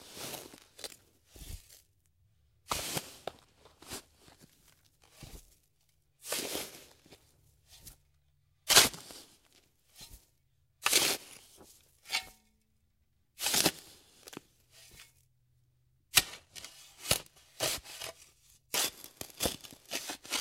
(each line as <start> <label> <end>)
0.0 Shovel digging around in sandy dirt 1.8
2.7 Shovel digging around in sandy dirt 4.1
5.1 Shovel digging around in sandy dirt 5.5
6.2 Shovel digging around in sandy dirt 8.0
8.6 Shovel digging around in sandy dirt 10.2
10.8 Shovel digging around in sandy dirt 12.5
13.4 Shovel digging around in sandy dirt 15.2
16.1 Shovel digging around in sandy dirt 20.4